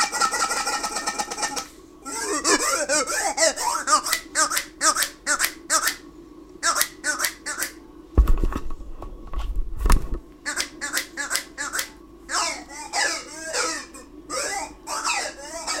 jiggling toy 0.0 - 5.4

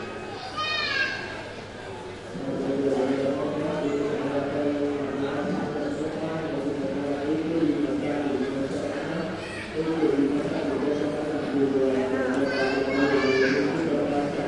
airport crowd 0.0 - 14.4

